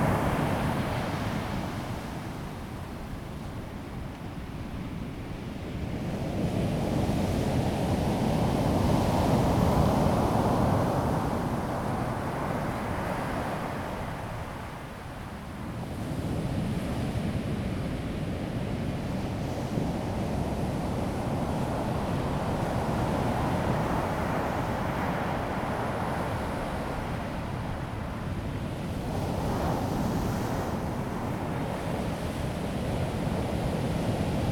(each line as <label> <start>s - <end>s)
Wind 0.0s - 34.5s
waves 6.9s - 34.5s